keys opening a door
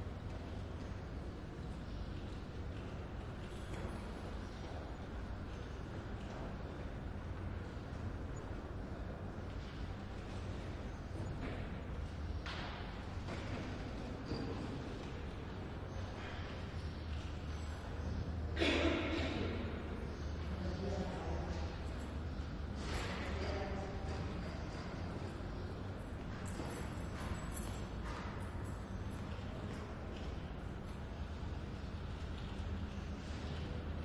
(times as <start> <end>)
24.8 31.1